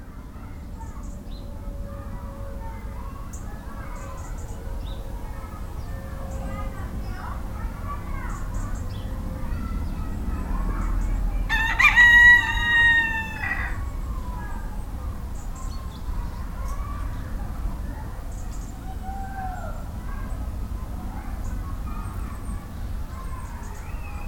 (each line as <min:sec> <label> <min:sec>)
0:08.1 two geese coming to see what's happening 0:14.7
0:11.5 rooster is shouting 0:13.8